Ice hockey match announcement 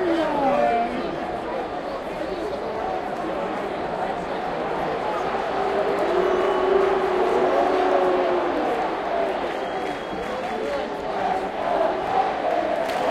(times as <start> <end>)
0.0 6.0